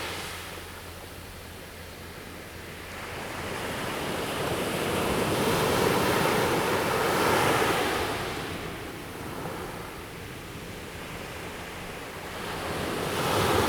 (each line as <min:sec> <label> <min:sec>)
0:03.3 waves 0:13.6